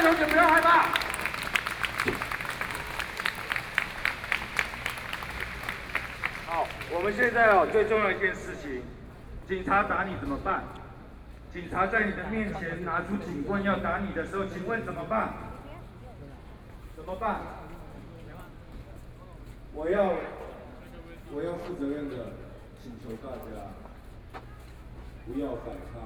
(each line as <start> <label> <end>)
0.0 University students gathered to protest the government 8.8